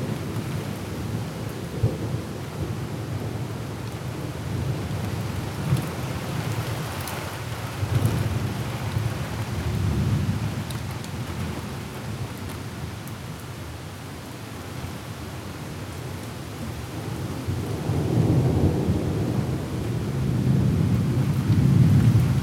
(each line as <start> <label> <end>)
0.0 afternoon thunderstorm 13.9
15.0 afternoon thunderstorm 22.4